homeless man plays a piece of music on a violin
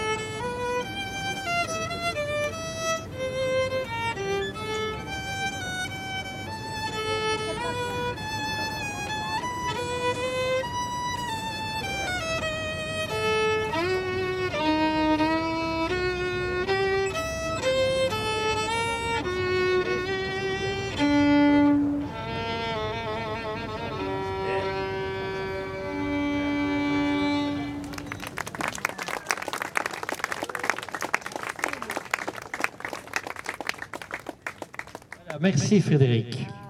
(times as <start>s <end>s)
0.0s 28.4s